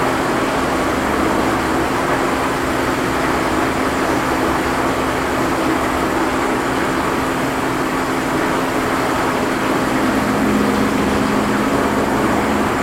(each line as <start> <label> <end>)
0.0 rushing water 12.8
7.7 reflected highway traffic 12.8